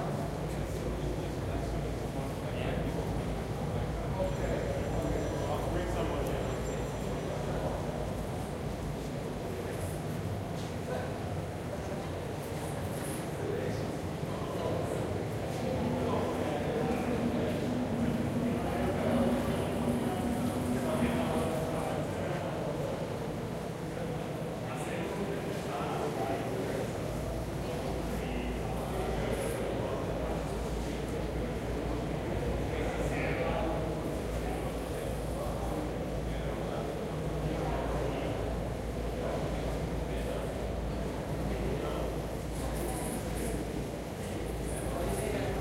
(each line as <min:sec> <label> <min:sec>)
0:00.0 people talking in a huge hall 0:45.6